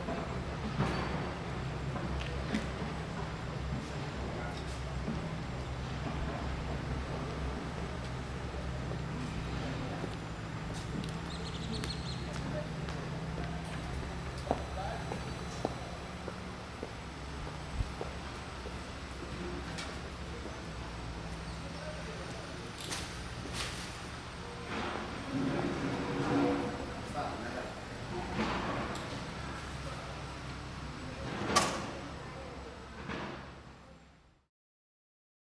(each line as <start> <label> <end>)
0.0 street constructions 34.5
1.8 Locals are talking 34.1